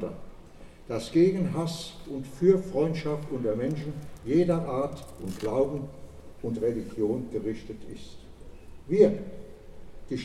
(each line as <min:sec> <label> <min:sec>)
0:00.0 speeches 0:00.3
0:00.9 speeches 0:08.3
0:08.9 speeches 0:09.4